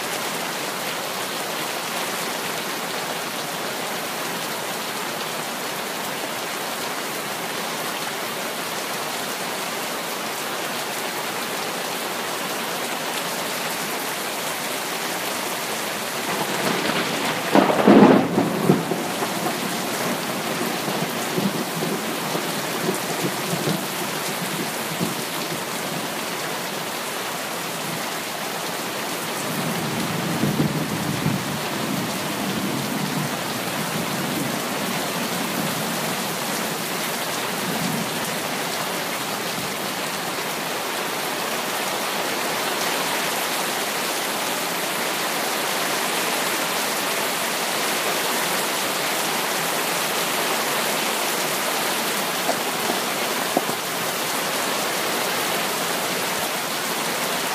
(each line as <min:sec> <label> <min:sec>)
0:00.0 heavy rain 0:57.5